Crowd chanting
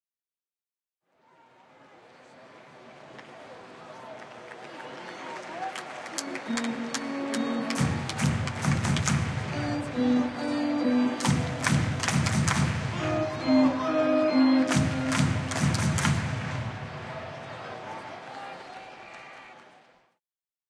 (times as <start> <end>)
6.2 19.1